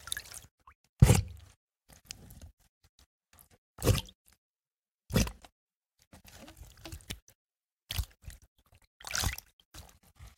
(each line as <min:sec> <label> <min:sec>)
0:09.0 splash 0:09.9